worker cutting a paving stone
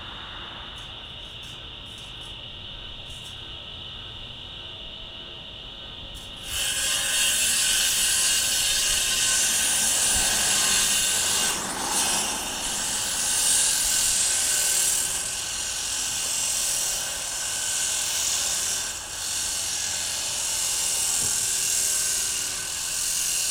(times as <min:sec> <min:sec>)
0:06.1 0:23.5